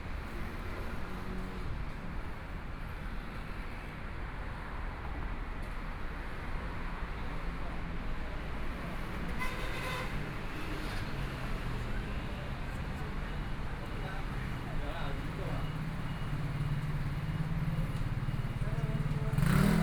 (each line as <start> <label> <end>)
0.0 Pedestrians on the road 19.8
0.0 Traffic Sound 19.8
10.3 Various shops voices 19.8
15.2 walking on the Road 19.8
16.3 Motorcycle Sound 19.8